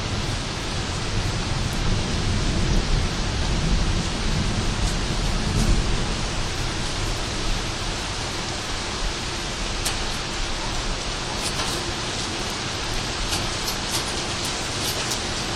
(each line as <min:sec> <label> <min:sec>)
0:00.0 rain 0:15.5
0:01.2 thunder 0:07.7